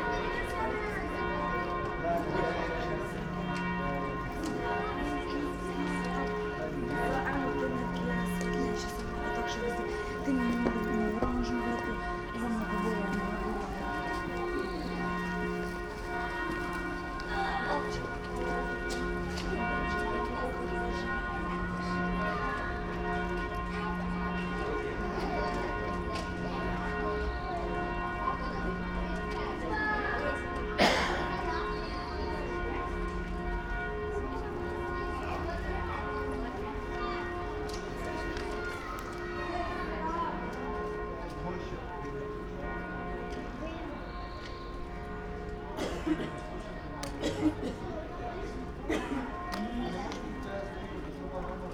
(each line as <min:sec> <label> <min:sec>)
0:00.0 church bells 0:51.7
0:00.0 kids and parents waiting in front of a house 0:51.7